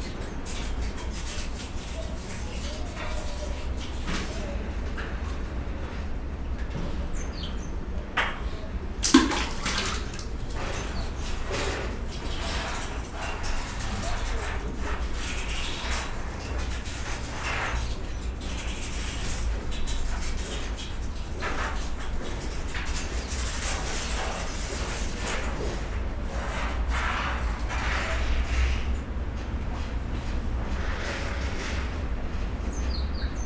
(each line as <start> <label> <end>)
9.0 water drain action 11.5